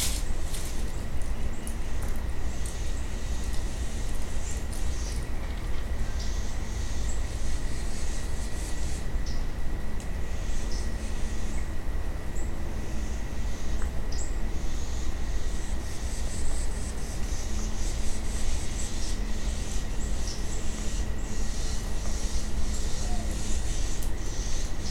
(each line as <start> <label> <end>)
0.0 Squirrels 9.5
0.0 songbirds 24.9
2.7 owl 5.2
12.4 Squirrels 24.9
12.8 owl 24.9